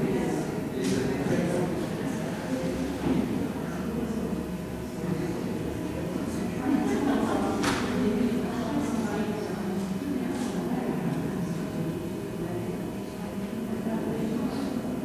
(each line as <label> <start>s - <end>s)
People waiting, talking 0.0s - 15.0s